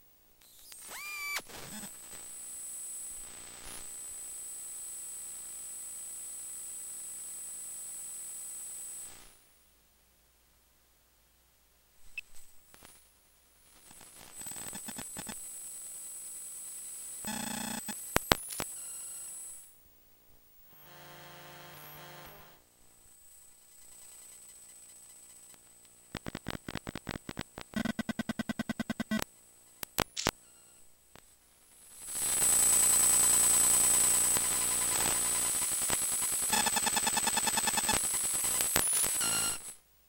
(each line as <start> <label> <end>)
0.4 click 1.4
0.5 buzz 9.4
13.7 buzz 19.8
18.2 click 18.8
20.6 buzz 30.8
28.9 click 30.4
29.8 memory card access 30.4
31.7 buzz 39.8